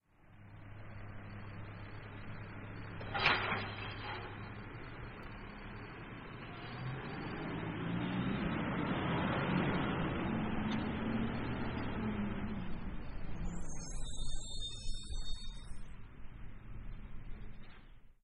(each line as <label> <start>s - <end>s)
Refuse Truck Squeeky Brakes 1.4s - 5.0s
Refuse Truck Squeeky Brakes 12.7s - 16.0s